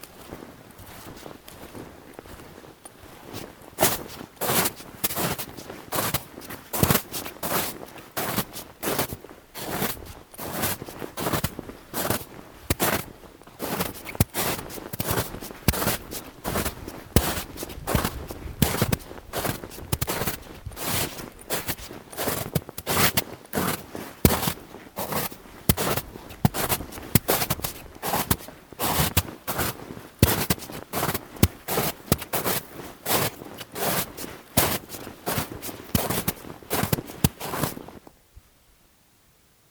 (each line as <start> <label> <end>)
0.0 Walking in enormous snowdrift 38.1